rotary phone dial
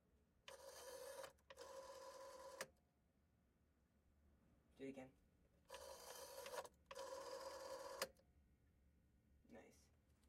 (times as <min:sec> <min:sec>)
0:00.5 0:02.7, 0:05.7 0:08.2